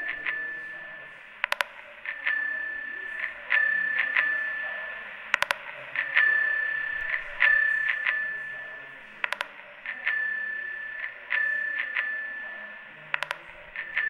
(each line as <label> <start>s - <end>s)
Glitches of a low-fi technology 0.0s - 14.0s